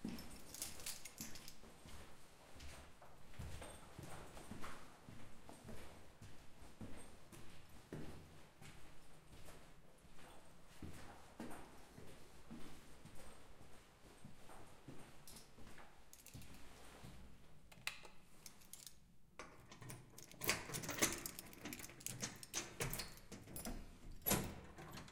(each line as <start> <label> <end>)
17.7 lock 25.1
19.4 opens the door to the apartment 25.1
19.6 opens the door with an electronic lock 25.1